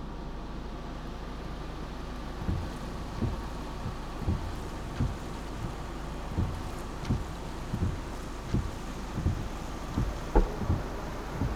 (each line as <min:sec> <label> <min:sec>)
0:02.4 car being washed 0:11.5